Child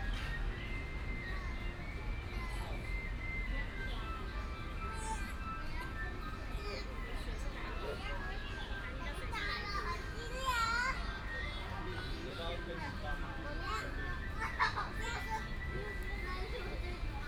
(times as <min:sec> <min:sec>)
0:09.0 0:11.2, 0:14.4 0:17.2